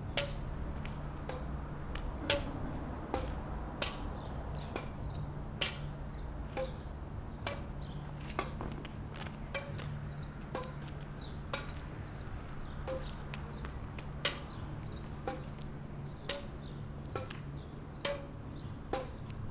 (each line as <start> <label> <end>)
0.0 street ambience 19.5
2.2 badminton match 4.1